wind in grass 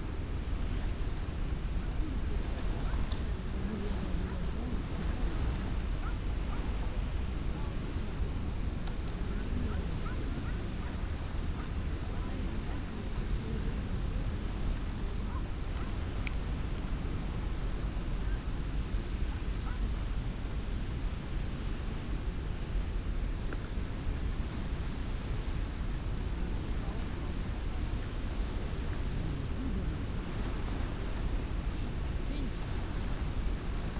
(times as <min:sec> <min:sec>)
0:23.9 0:33.9